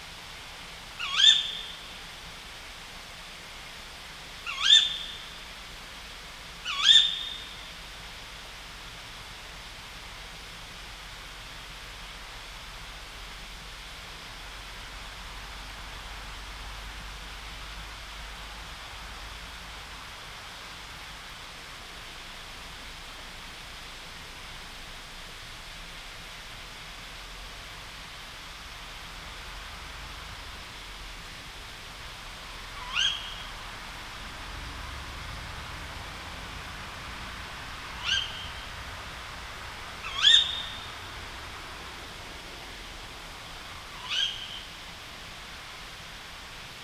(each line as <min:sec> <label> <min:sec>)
0:01.0 Tawny owl 0:01.8
0:04.4 Tawny owl 0:05.3
0:06.6 Tawny owl 0:07.6
0:32.7 Tawny owl 0:33.7
0:37.9 Tawny owl 0:38.8
0:40.0 Tawny owl 0:41.1
0:43.7 Tawny owl 0:44.8